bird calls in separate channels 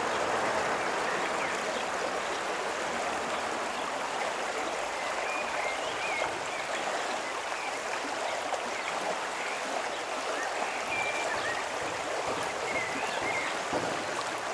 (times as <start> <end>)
10.4 14.3